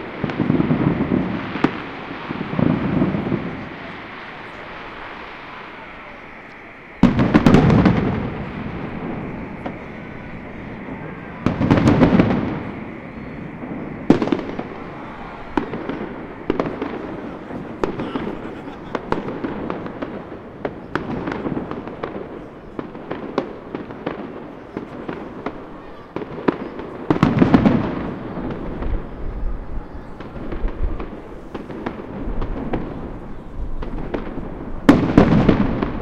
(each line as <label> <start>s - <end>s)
crowd 0.0s - 36.0s
fireworks 0.0s - 36.0s